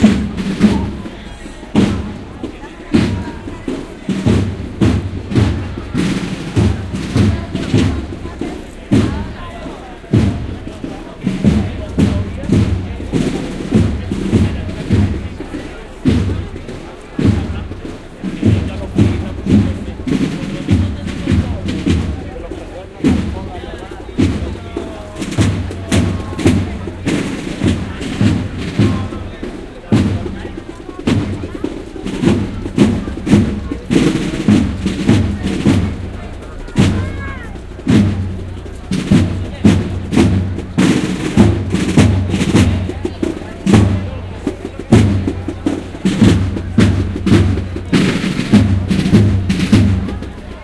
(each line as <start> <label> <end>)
0.0 Voices 50.6
0.0 drums 50.6